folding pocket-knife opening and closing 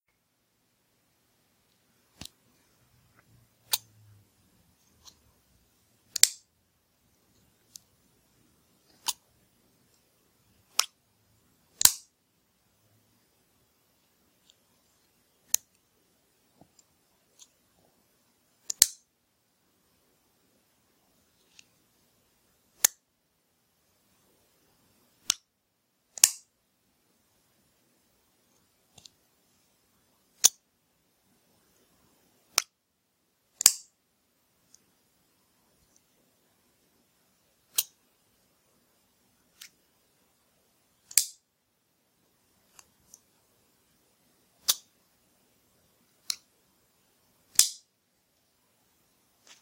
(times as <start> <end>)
6.1 6.4, 26.2 26.4, 33.6 33.9, 41.1 41.4, 44.6 44.9, 47.5 47.8